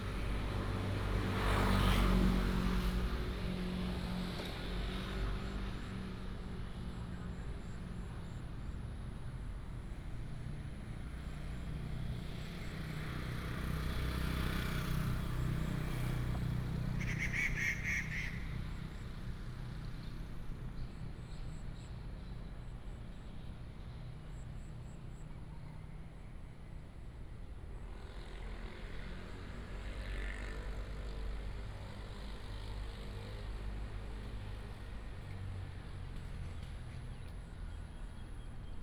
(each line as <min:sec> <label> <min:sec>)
0:17.0 Birds call 0:18.6